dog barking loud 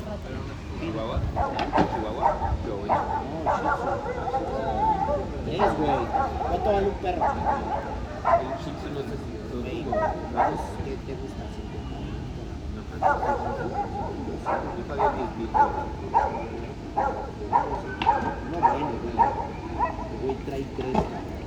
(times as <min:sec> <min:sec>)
0:01.4 0:09.0, 0:09.8 0:10.8, 0:12.9 0:20.6